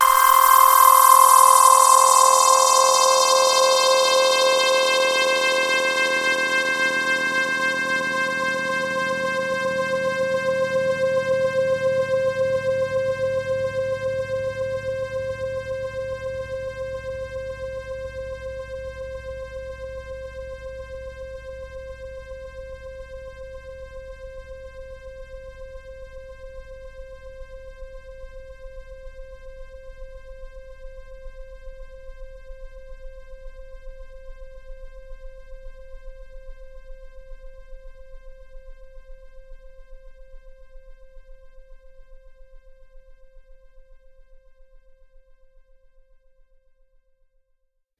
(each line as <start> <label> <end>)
0.0 saw wave sound 5.7